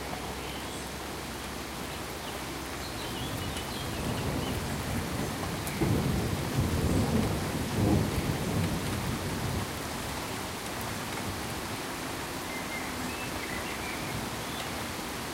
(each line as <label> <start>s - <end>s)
Heavy steady Rain 0.0s - 15.3s
gently rolling thunder 3.3s - 10.2s